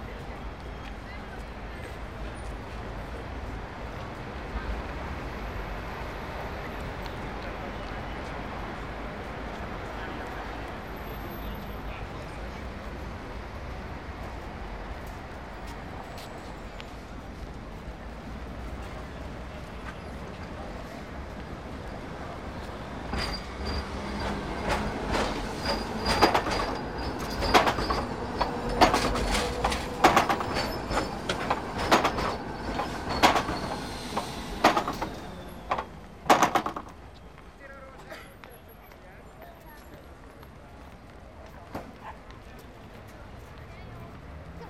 0.0s heavy car traffic 44.6s
0.0s trams 44.6s
22.4s footsteps 37.6s

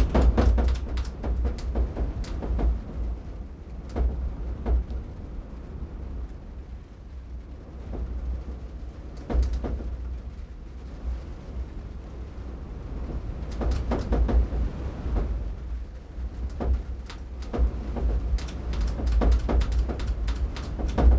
0.0s BLOWING IN THE WIND 21.1s

